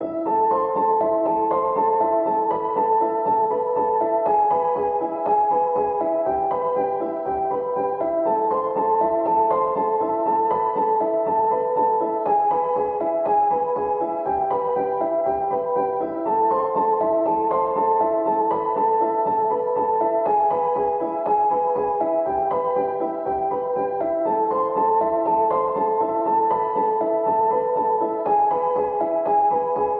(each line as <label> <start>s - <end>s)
piano 0.0s - 29.9s